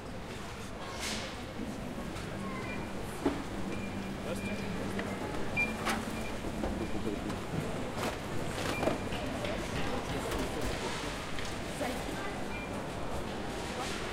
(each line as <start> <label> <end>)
0.0 Walking through the shop 14.1